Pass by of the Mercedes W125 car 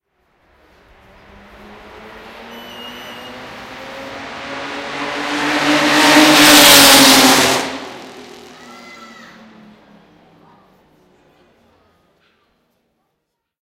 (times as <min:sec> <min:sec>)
0:00.4 0:11.2